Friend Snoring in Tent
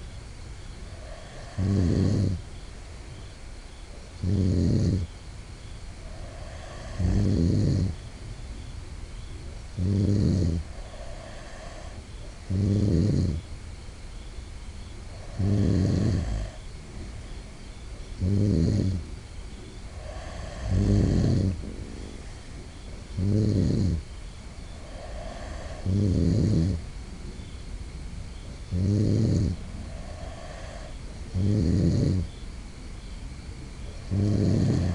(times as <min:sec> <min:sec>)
0:00.8 0:02.8, 0:03.9 0:05.2, 0:06.0 0:08.1, 0:09.4 0:13.5, 0:15.1 0:17.4, 0:18.0 0:27.6, 0:28.3 0:32.4, 0:33.4 0:34.9